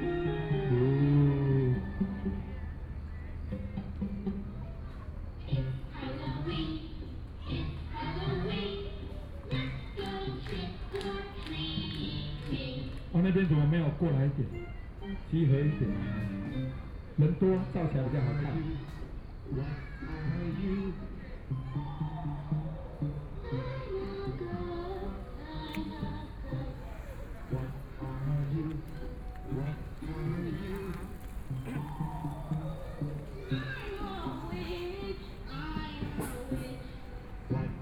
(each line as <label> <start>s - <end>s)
kids games and activities 14.9s - 37.8s